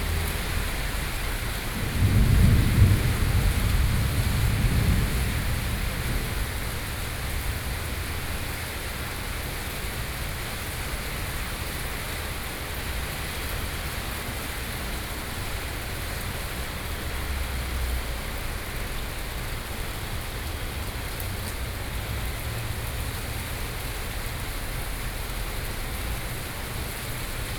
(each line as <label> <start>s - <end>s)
Traffic Noise 0.0s - 27.5s
Thunderstorm 0.0s - 8.4s